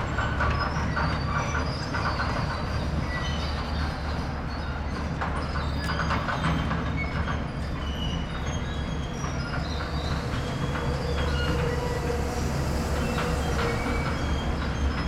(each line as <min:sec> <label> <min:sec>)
0:00.0 excavator rumbling across the construction area, whizzing and squeaking 0:15.0